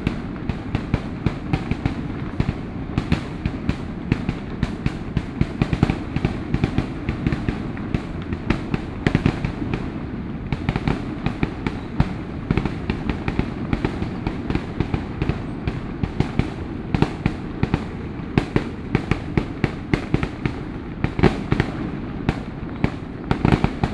Traffic Sound 0:01.8 - 0:12.5
Traffic Sound 0:14.9 - 0:21.4
Fireworks sound 0:16.3 - 0:21.9

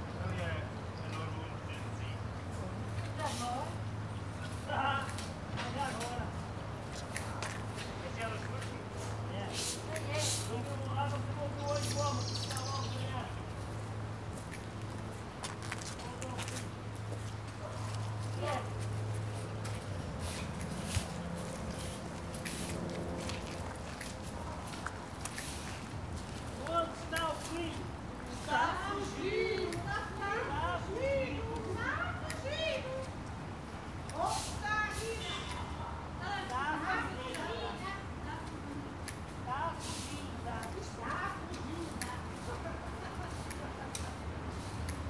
chats of the gardening crew 0:00.0 - 0:45.0

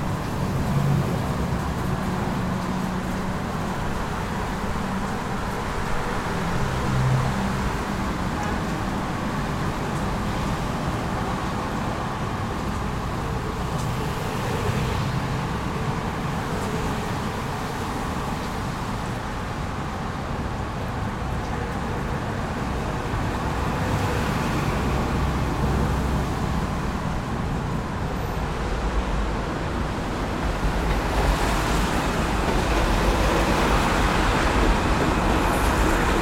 traffic 0:00.0 - 0:36.2
water from the rain 0:00.0 - 0:36.2

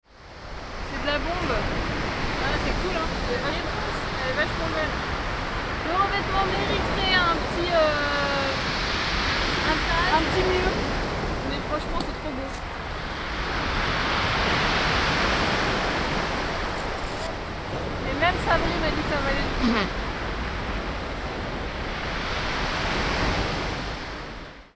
Sea 0:00.0 - 0:24.7
Cycling and skating along the sea 0:00.1 - 0:24.7

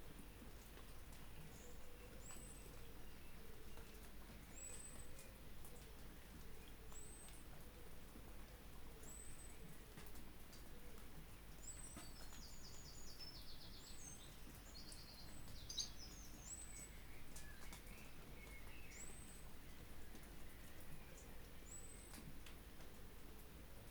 rain 0:00.0 - 0:23.9

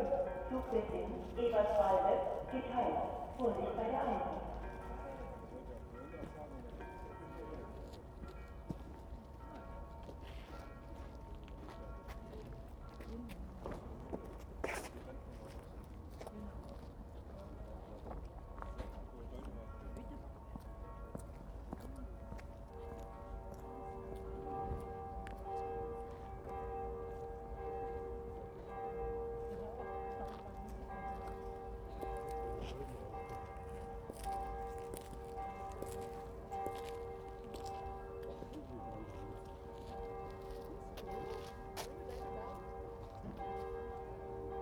station announcements 0:00.0 - 0:04.6
bells 0:00.0 - 0:13.0
bells 0:18.5 - 0:44.6

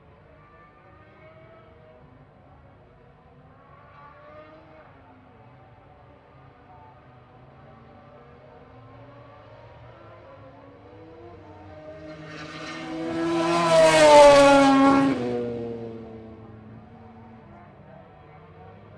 motorcycle grand prix 0:00.4 - 0:18.9

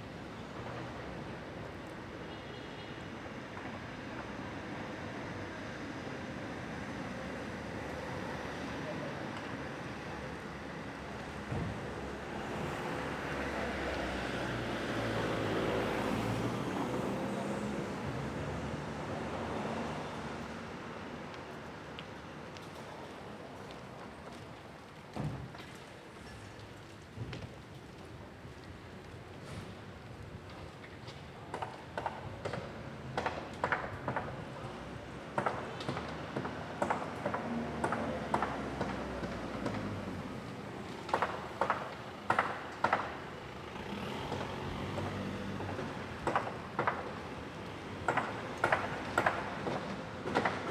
building site 0:21.0 - 0:50.7

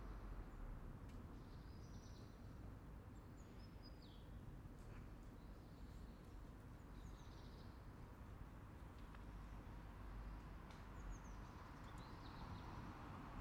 small traffic 0:08.4 - 0:13.4

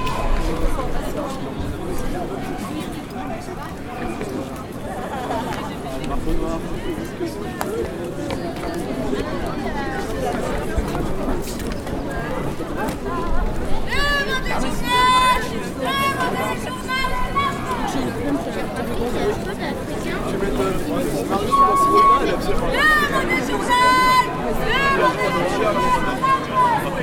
people are walking 0:00.0 - 0:27.0

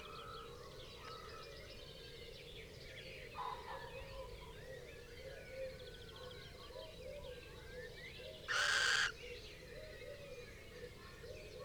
crow 0:08.5 - 0:09.2
pheasant 0:08.5 - 0:09.2
blue tit 0:08.5 - 0:09.1
collared dove 0:08.5 - 0:09.1
little owl 0:08.5 - 0:09.1
red-legged partridge 0:08.5 - 0:09.1
blackbird 0:08.5 - 0:09.2
wren 0:08.5 - 0:09.2

